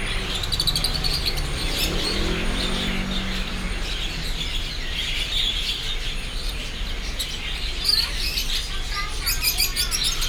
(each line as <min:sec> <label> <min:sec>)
0:00.0 Traffic sound 0:10.2